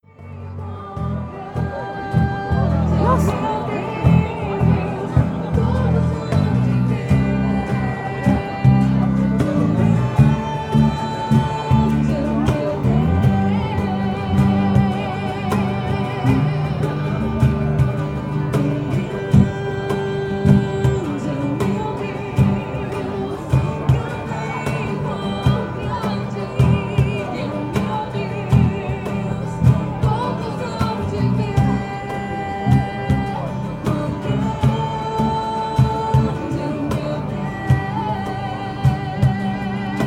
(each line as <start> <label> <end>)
0.0 percussion 40.0
0.0 string musical instruments 40.0
0.0 voices amplified by microphones connected to the speakers 40.0
0.1 várias pessoas acompanhavam a apresentação, cantando junto 40.0